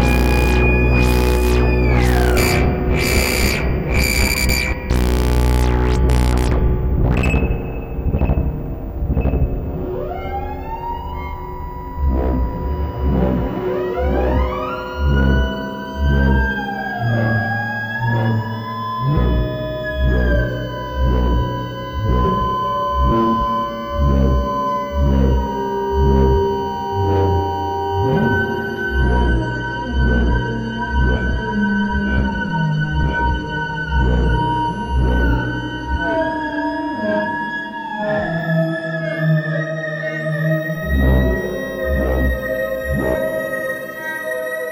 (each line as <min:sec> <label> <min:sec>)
0:00.0 modular synthesizer 0:44.7